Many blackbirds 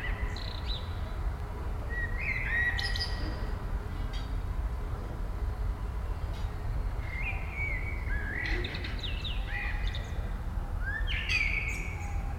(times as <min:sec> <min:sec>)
0:01.8 0:04.5, 0:05.6 0:12.3